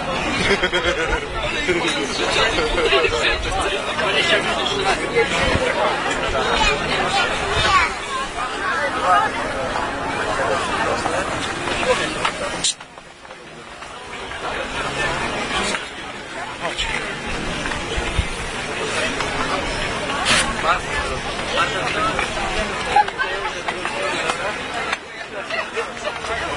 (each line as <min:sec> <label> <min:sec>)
0:00.0 people selling funny objects 0:26.5